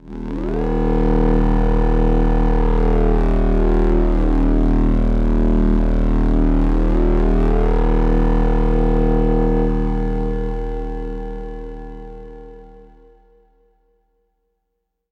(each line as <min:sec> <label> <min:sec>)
0:00.0 Analog Bass 0:12.8